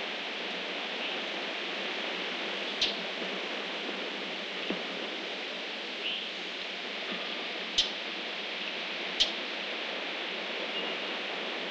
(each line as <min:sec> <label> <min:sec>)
0:00.0 wind 0:11.7
0:02.6 Birds 0:03.1
0:05.9 Birds 0:06.4
0:07.2 Birds 0:08.0
0:08.6 Birds 0:09.5
0:10.6 Birds 0:11.3